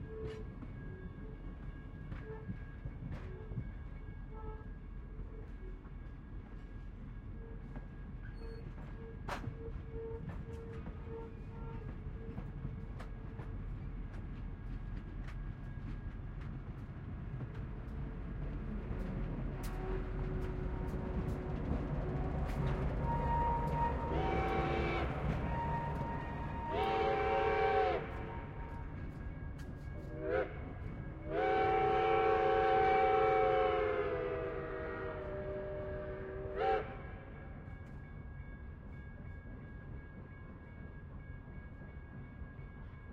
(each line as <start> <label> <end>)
0.0 Steam Train Leaving Station 42.8
4.3 people watching the train 40.0